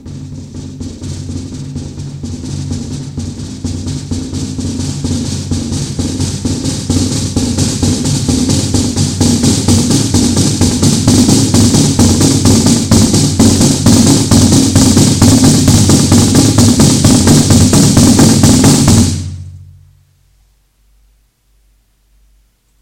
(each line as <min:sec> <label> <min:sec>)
0:00.0 drum fragments 0:20.0